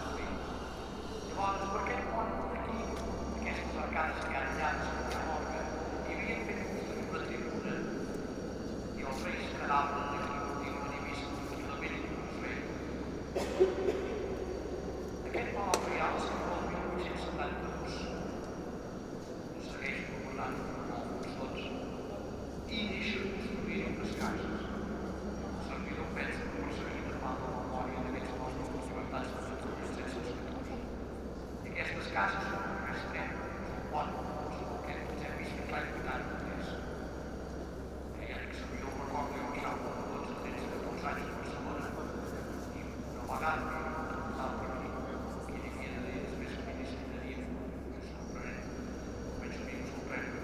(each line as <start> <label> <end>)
0.0 man explaining the meaning and history with a microphone 14.2
0.0 Tourists all over the space 50.4
15.1 man explaining the meaning and history with a microphone 50.4